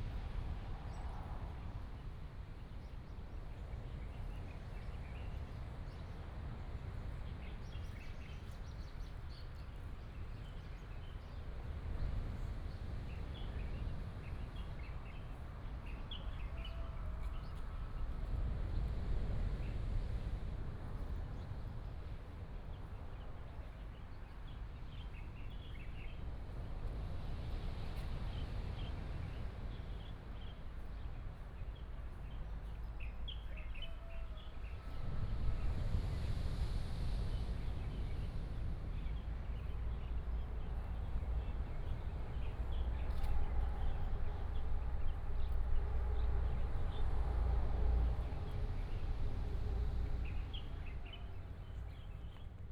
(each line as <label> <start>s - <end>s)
waves 0.0s - 52.5s
Traffic sound 26.2s - 52.7s